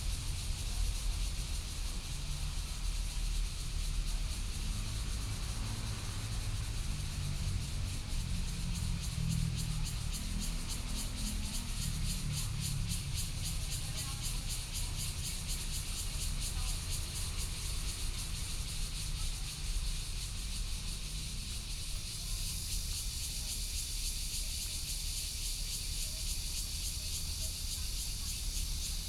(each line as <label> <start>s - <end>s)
Cicadas 0.0s - 29.0s
Trains traveling through 4.6s - 29.0s